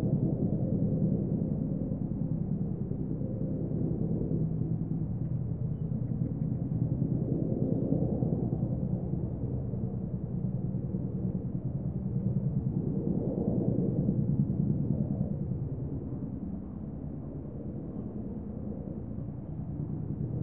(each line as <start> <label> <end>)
0.0 Boeing CH-47 Chinook flying at about 3,000 feet 20.4